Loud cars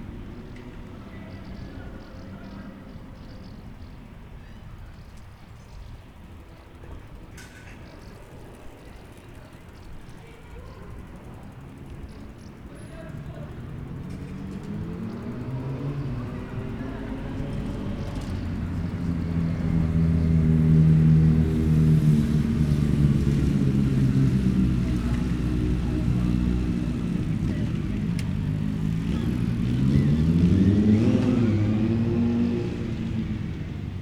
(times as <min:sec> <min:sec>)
0:11.6 0:34.0